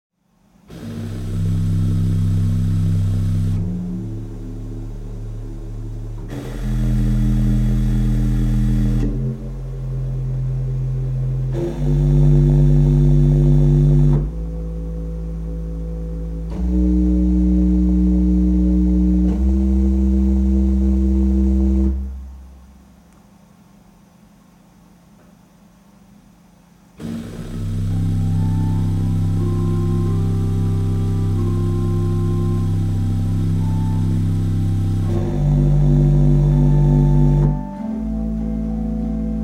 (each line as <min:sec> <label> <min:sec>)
0:27.0 Church Organ Improvisation 0:39.4